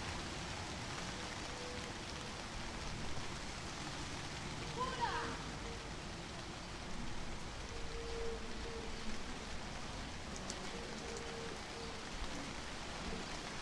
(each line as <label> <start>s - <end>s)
Rain beginning to pour 0.0s - 13.6s